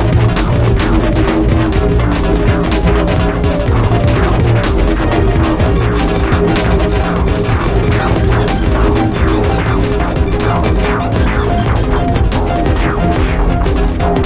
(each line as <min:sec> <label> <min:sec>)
0:00.0 music 0:14.2